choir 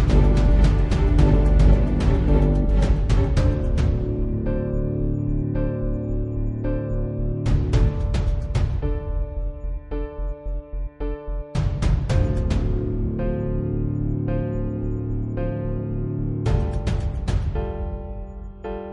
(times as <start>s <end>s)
0.0s 4.0s